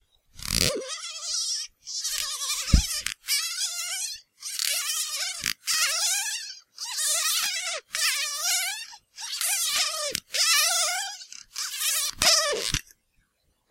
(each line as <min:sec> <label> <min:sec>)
0:00.4 Squeaky Toy Wheels 0:12.9